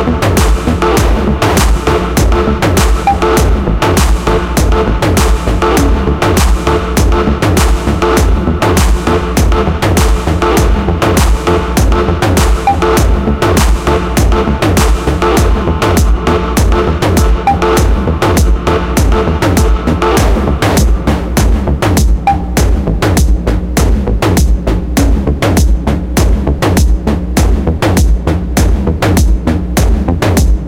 Synths 0.0 - 27.6
percussion loop 0.0 - 30.6

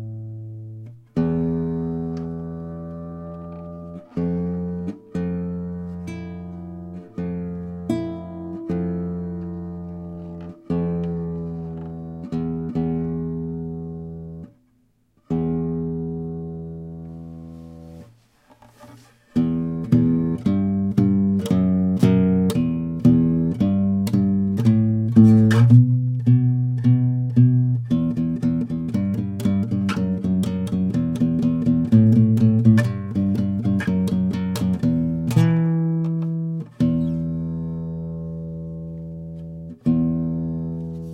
nylon guitar 0.0 - 41.1

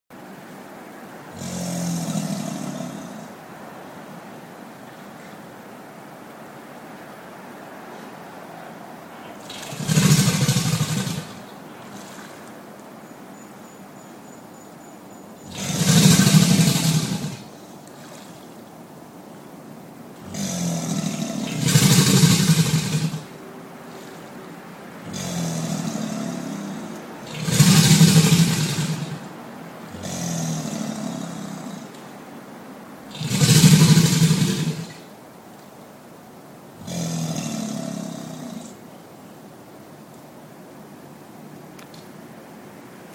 bellowing alligators 9.2 - 12.5
bellowing alligators 15.4 - 18.4
bellowing alligators 20.2 - 24.4
bellowing alligators 25.0 - 32.1
bellowing alligators 33.1 - 35.1

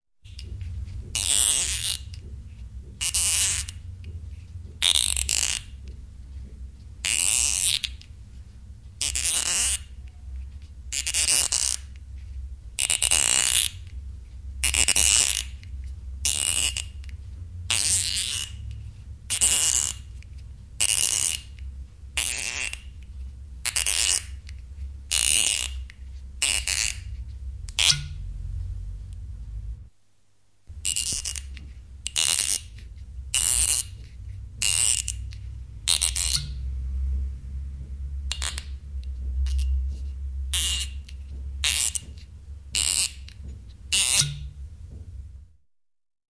Wine bottle, opening with a corkscrew 0.3 - 2.3
Wine bottle, opening with a corkscrew 2.9 - 3.8
Wine bottle, opening with a corkscrew 7.0 - 8.1
Wine bottle, opening with a corkscrew 22.2 - 22.9
Wine bottle, opening with a corkscrew 23.7 - 27.1
Wine bottle, opening with a corkscrew 30.8 - 36.6
Wine bottle, opening with a corkscrew 38.3 - 38.8
Wine bottle, opening with a corkscrew 40.5 - 44.6

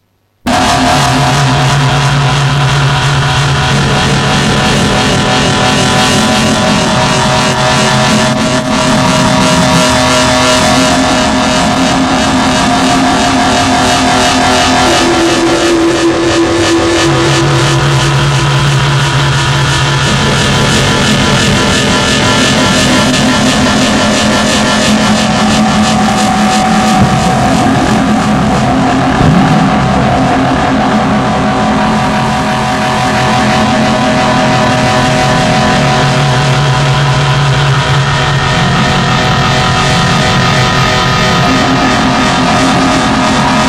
robotic music 0.5 - 34.0

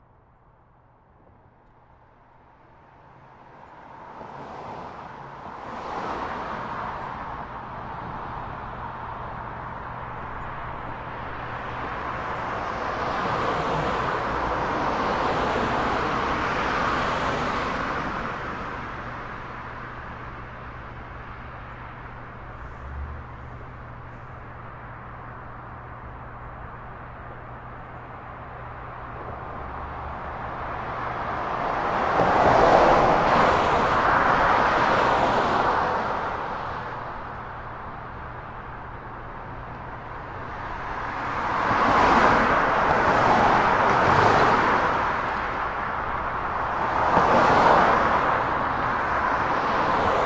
Traffic Under Bridge 0.0 - 50.2

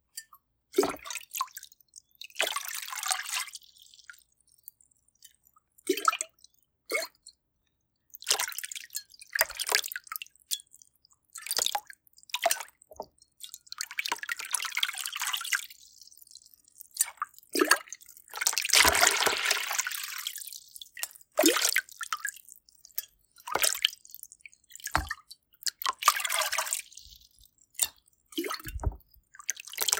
Water pot immersed in liquid 16.7 - 29.9
gurgle 18.5 - 20.5

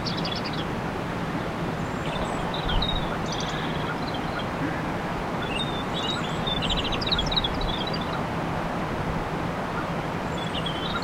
Blackbirds 0.0 - 8.3
Faint tricklin gof water 0.0 - 11.0
Blackbirds 9.7 - 11.0

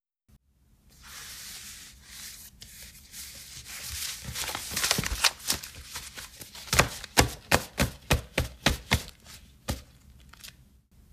Gathering paper spread out and straightening it 0.9 - 7.6

